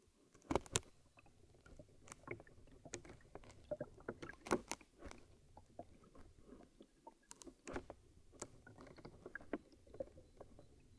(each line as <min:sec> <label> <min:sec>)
0:00.0 plastic bottles in half frozen river 0:10.9